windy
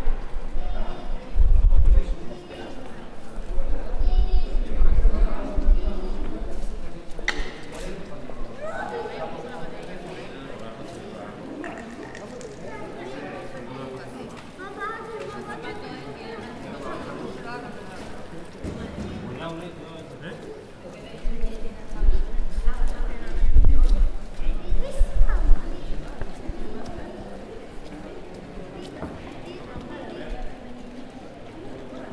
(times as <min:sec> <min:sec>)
0:00.0 0:07.7, 0:21.1 0:30.8